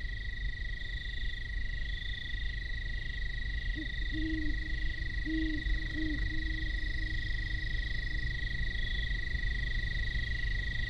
industrial sand plant drones discreetly in the distance 0.0 - 10.8
insect chatter 0.0 - 10.8
great horned owls signify territories 3.7 - 8.7

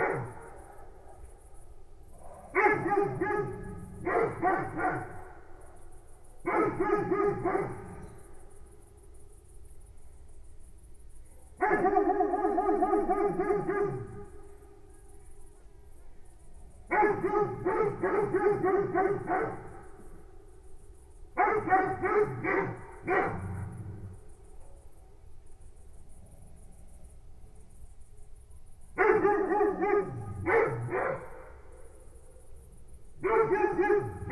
dogs barking 0.0 - 1.3
Crickets 0.0 - 34.3
dogs barking 2.4 - 5.4
dogs barking 6.4 - 8.0
dogs barking 11.6 - 14.4
dogs barking 16.9 - 19.8
dogs barking 21.4 - 24.0
dogs barking 29.0 - 31.5
dogs barking 33.2 - 34.3

